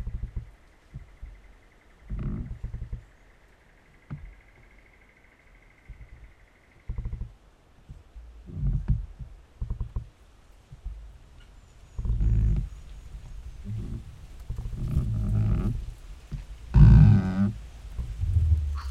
Two trees rubbing against each other 0:11.9 - 0:18.9

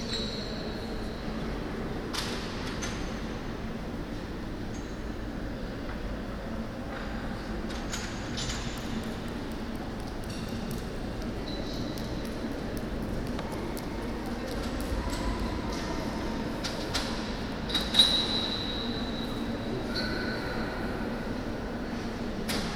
deafening reverb of the main hall 0:00.0 - 0:22.7

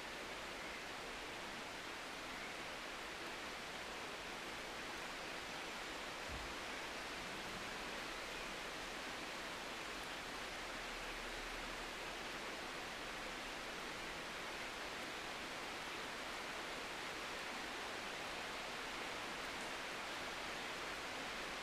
Heavy Rain 0:00.0 - 0:21.6

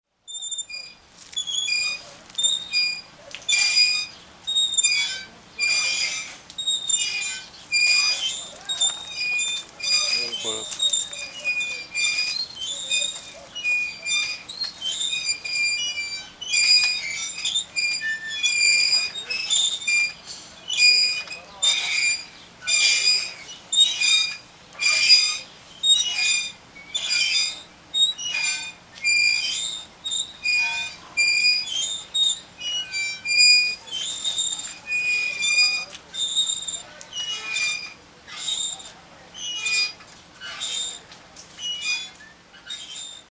children swing 0:00.3 - 0:43.3

